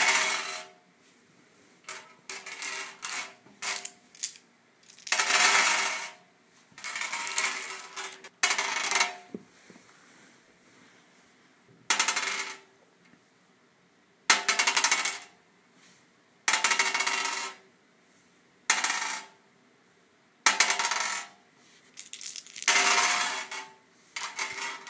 dice rolling on a glass surface 0:02.3 - 0:06.1
dice rolling on a glass surface 0:06.8 - 0:09.2
dice rolling on a glass surface 0:11.9 - 0:12.6
dice rolling on a glass surface 0:16.5 - 0:17.6
dice rolling on a glass surface 0:18.8 - 0:19.3
dice rolling on a glass surface 0:20.5 - 0:21.3
dice rolling on a glass surface 0:21.9 - 0:24.8

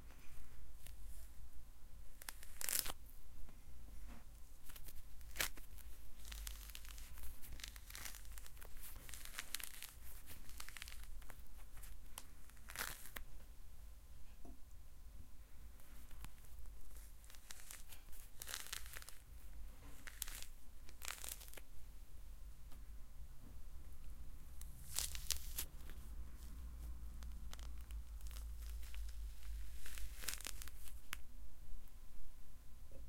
peeling Orange 0:02.2 - 0:03.0
peeling Orange 0:04.6 - 0:13.3
peeling Orange 0:15.9 - 0:21.7
peeling Orange 0:24.5 - 0:31.3

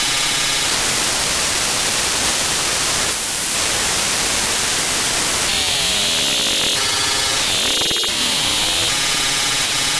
digital static 0:05.2 - 0:09.2

